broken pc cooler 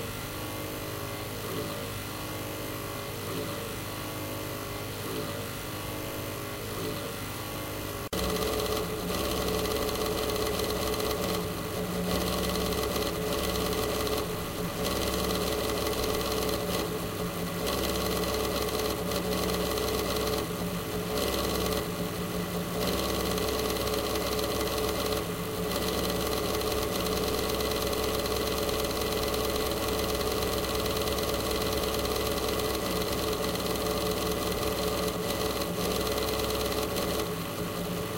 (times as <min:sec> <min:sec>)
0:08.1 0:38.1